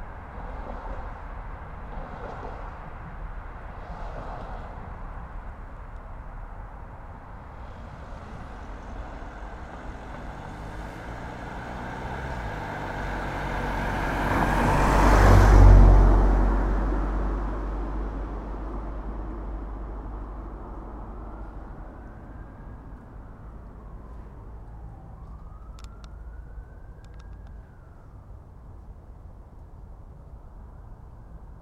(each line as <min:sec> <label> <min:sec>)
0:00.0 Cars drive past 0:26.8
0:07.4 Train can be heard going south 0:17.1